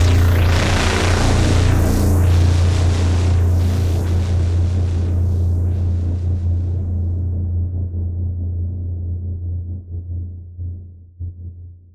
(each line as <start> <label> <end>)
0.0 synthbass 10.3